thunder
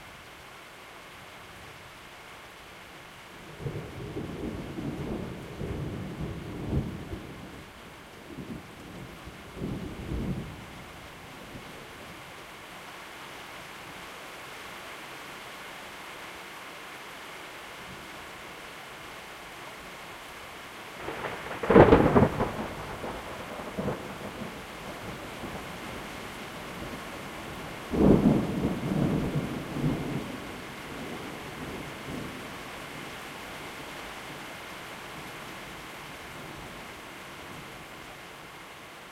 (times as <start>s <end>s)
21.0s 25.2s, 27.9s 30.4s